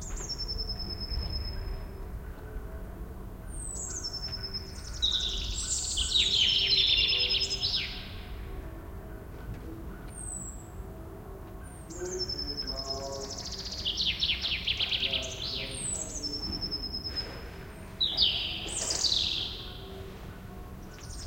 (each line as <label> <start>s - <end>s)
robin singing from a poplar tree 0.0s - 2.6s
robin singing from a poplar tree 3.4s - 9.2s
robin singing from a poplar tree 9.9s - 10.8s
robin singing from a poplar tree 11.6s - 21.2s